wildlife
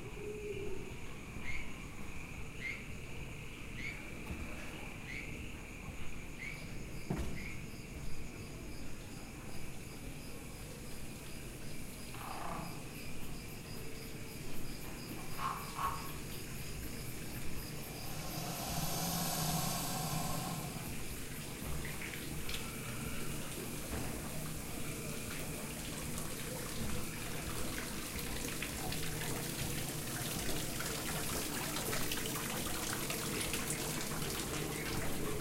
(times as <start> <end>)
12.1 13.1, 15.2 23.9